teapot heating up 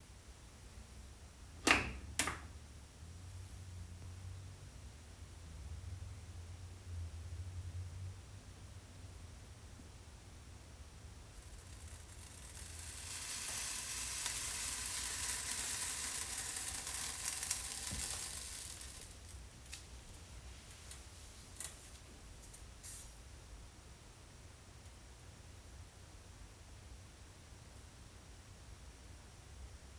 10.7s 22.2s

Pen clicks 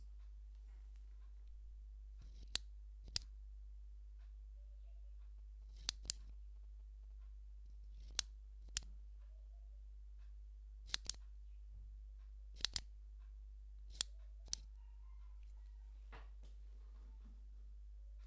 5.7s 6.3s, 10.9s 11.2s, 12.6s 12.9s

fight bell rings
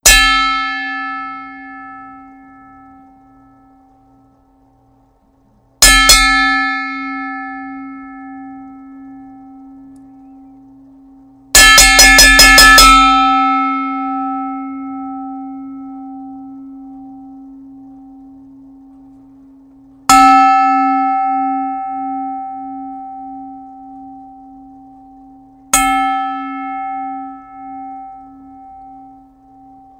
0.0s 3.9s, 5.8s 10.2s, 11.5s 17.3s, 20.1s 25.0s, 25.7s 29.9s

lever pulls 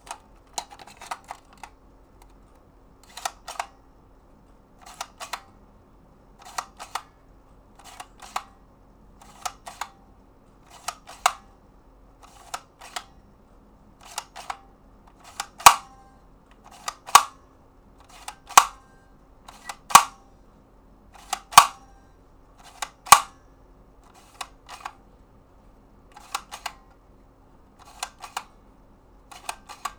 19.9s 20.1s

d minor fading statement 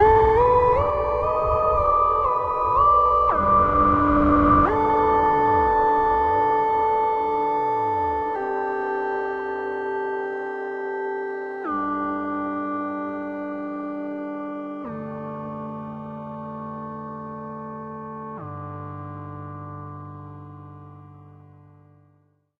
0.0s 8.2s

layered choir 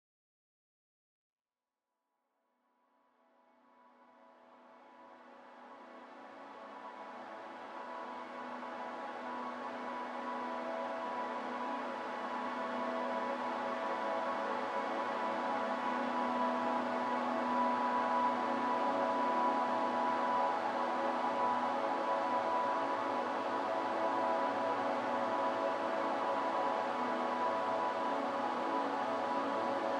6.9s 29.9s

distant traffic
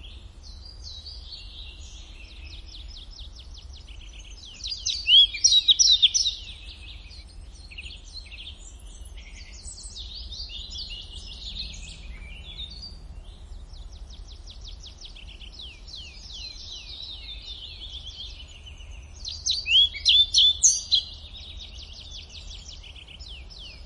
9.6s 23.8s

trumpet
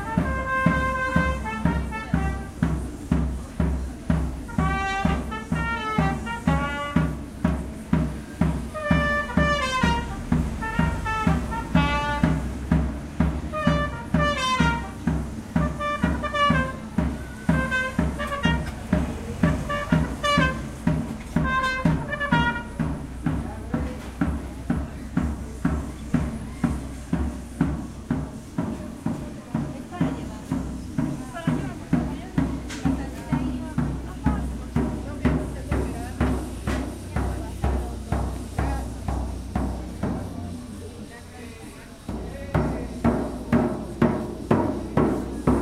0.0s 2.8s, 4.5s 7.2s, 8.8s 12.4s, 13.5s 20.8s, 21.4s 23.0s

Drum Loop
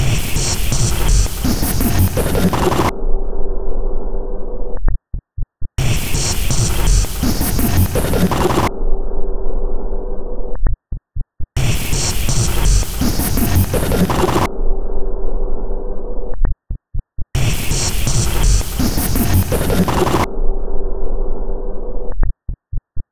0.0s 2.9s, 5.8s 8.7s, 11.6s 14.5s, 17.4s 20.3s

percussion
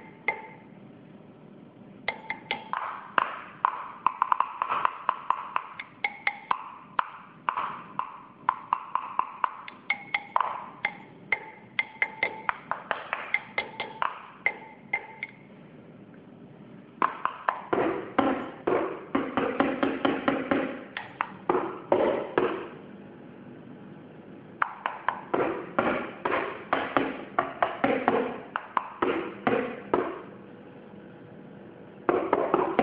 0.0s 0.6s, 2.1s 15.4s, 17.0s 22.8s, 24.6s 30.3s, 32.1s 32.8s

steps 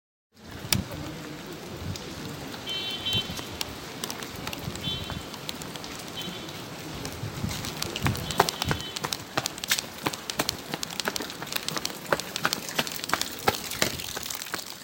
3.3s 14.8s

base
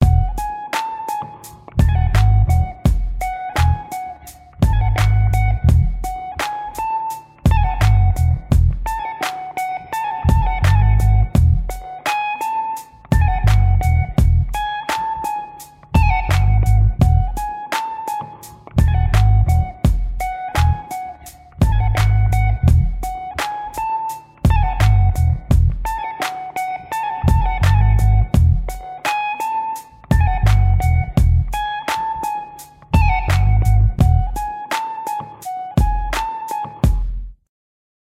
21.6s 23.9s

